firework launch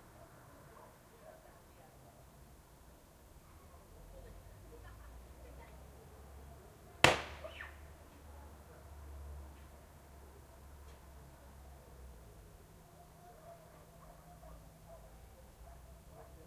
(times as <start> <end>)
7.0 7.4